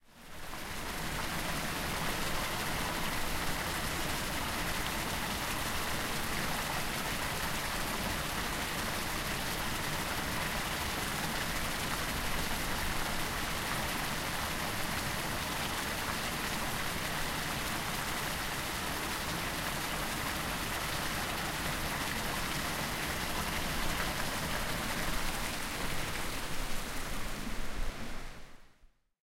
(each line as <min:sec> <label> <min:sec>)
0:00.0 Water, mall fountain 0:28.8